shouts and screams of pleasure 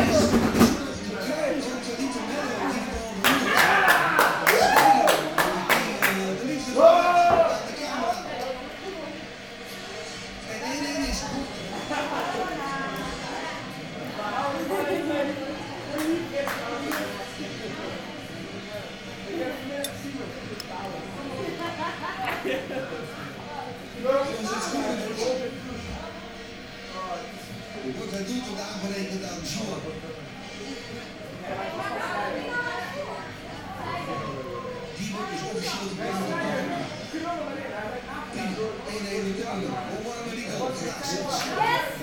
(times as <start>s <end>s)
3.3s 5.3s